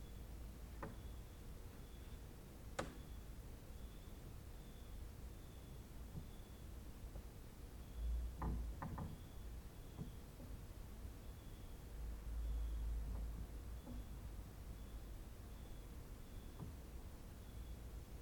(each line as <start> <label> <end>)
0.0 cricket outside 6.8
7.8 cricket outside 10.5
11.1 cricket outside 18.1